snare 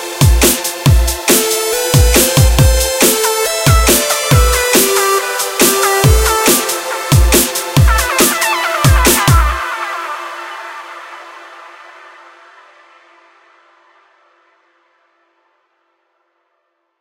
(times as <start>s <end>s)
0.4s 9.6s